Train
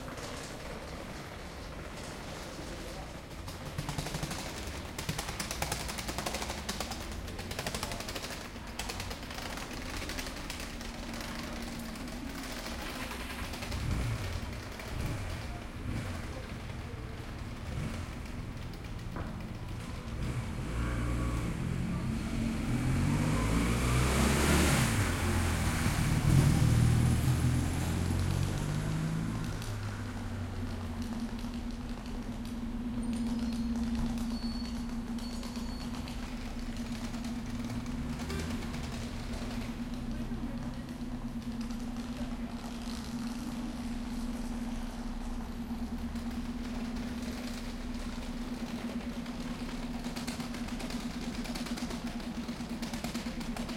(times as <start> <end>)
0.0 5.4